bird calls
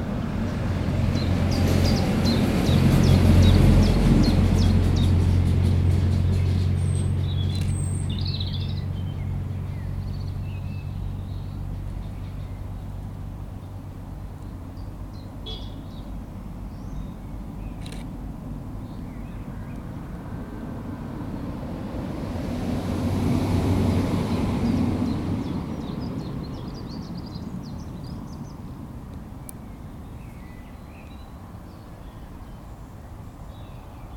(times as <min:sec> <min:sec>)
0:14.8 0:18.0